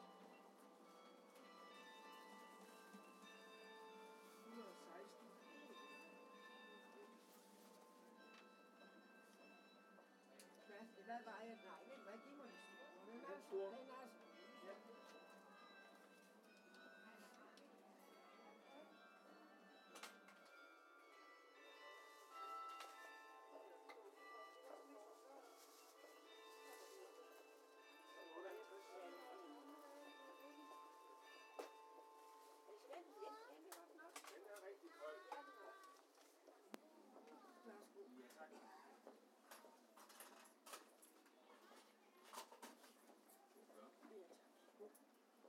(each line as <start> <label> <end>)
0.0 Churchbell 36.0
0.0 market 45.4